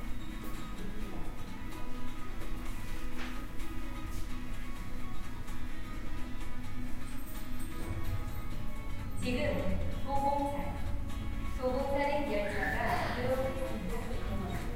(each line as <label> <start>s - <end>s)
Music from the advertisements 0.0s - 14.7s
Metro information sounds 4.4s - 14.7s
Metro information from speakers in Korean and English 9.0s - 14.7s